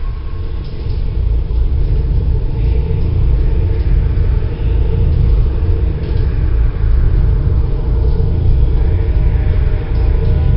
Drone 0:00.0 - 0:10.5

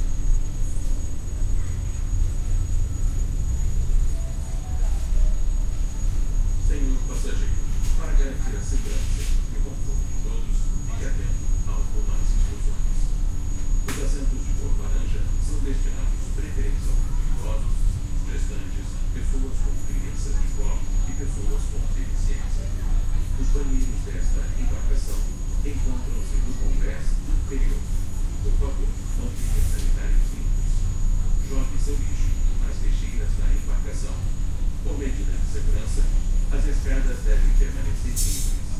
Running engine 0:00.0 - 0:38.7
announcement 0:00.1 - 0:38.7

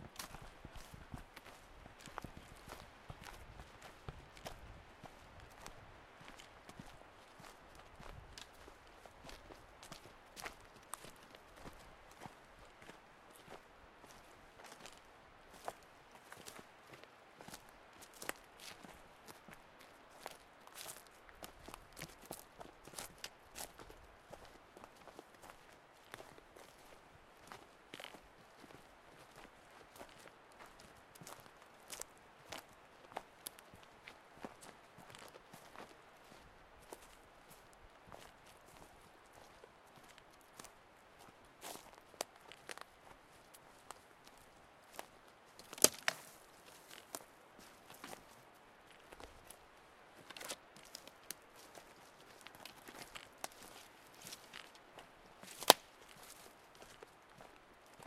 footsteps 0:00.1 - 0:05.2
footsteps 0:45.6 - 0:48.3
twigs 0:45.6 - 0:46.4
trekking poles 0:45.6 - 0:46.4
leaves 0:55.4 - 0:57.5
twigs 0:55.5 - 0:56.0

